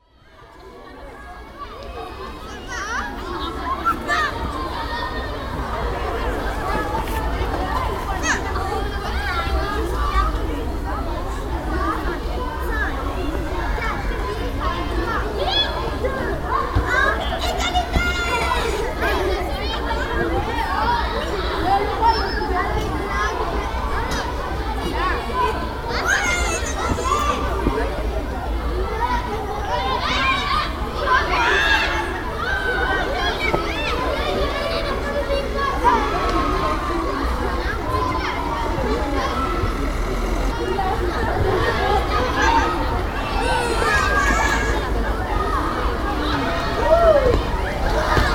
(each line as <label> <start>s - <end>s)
children are playing 0.0s - 48.3s